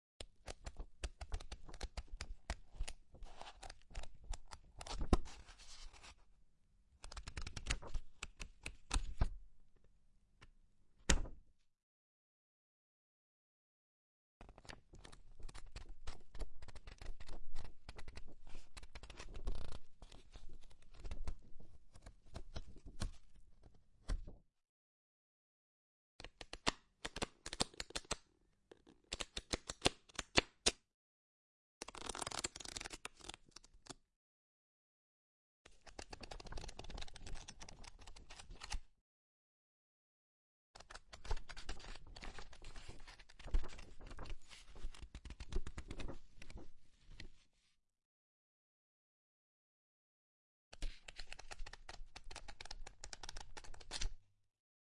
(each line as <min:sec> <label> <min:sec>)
0:00.4 Turning pages of a book 0:06.3
0:07.0 Flicking through pages 0:09.3
0:07.0 Turning pages of a book 0:09.4
0:14.4 Turning pages of a book 0:24.4
0:31.8 Turning pages of a book 0:34.0
0:35.7 Turning pages of a book 0:38.8
0:35.8 Flicking through pages 0:38.8
0:40.8 Flicking through pages 0:46.6
0:40.8 Turning pages of a book 0:47.8
0:50.8 Flicking through pages 0:54.1
0:50.8 Turning pages of a book 0:54.2